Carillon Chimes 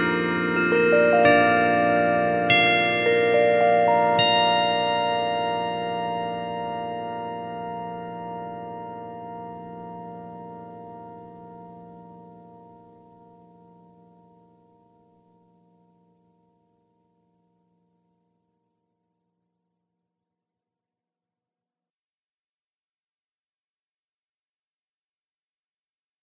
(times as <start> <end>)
0.0 16.2